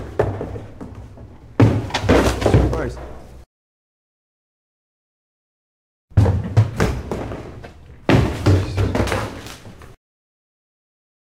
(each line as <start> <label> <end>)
1.6 trash can plastic bin kick over angrily 2.8
8.1 trash can plastic bin kick over angrily 9.4